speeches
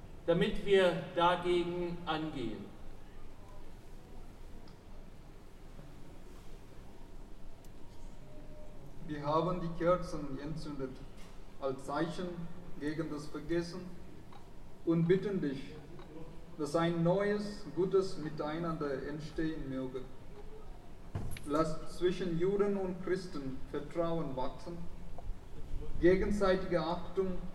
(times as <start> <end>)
0.2 2.8, 9.0 11.0, 11.6 14.0, 14.8 20.1, 21.4 25.0, 25.6 27.5